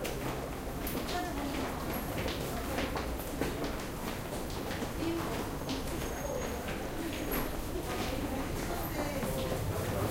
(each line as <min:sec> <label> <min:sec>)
0:00.0 People in a busy street 0:10.1
0:00.0 subway metro 0:10.1